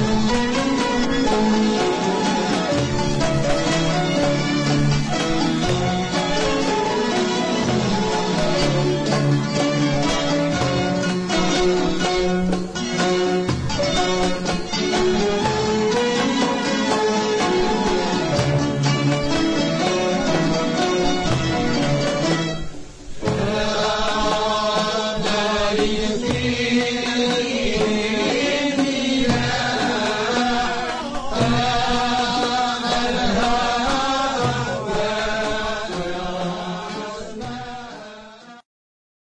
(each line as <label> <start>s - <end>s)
orchestra 0.0s - 38.2s
derbouka 0.0s - 38.6s